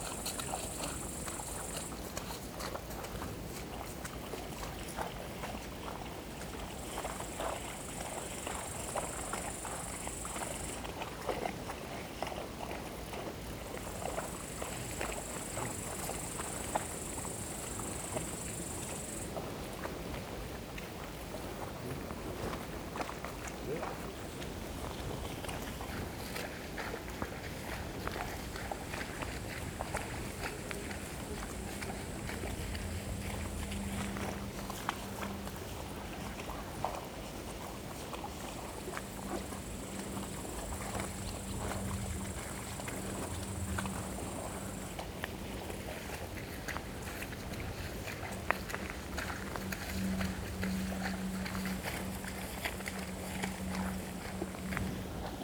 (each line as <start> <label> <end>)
0.0 Cows walking and eating in a waterlogged field 55.4
17.4 Two walkers were filming, murmuring occasionally 55.4